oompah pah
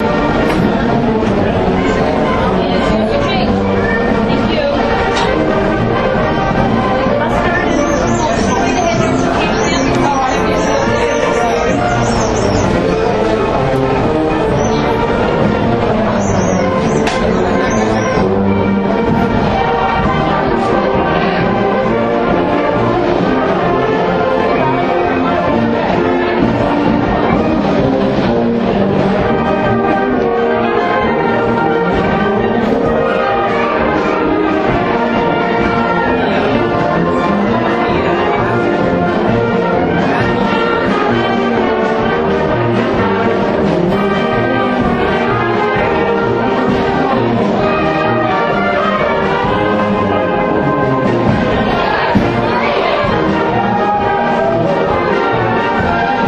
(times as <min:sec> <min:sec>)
0:14.4 0:18.4